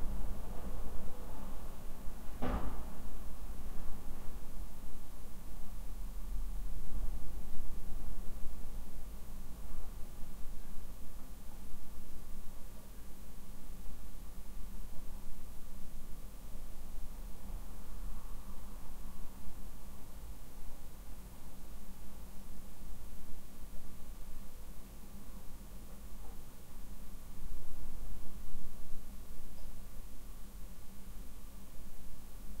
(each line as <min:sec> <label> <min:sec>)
0:00.0 wind rattling apartment windows 0:12.5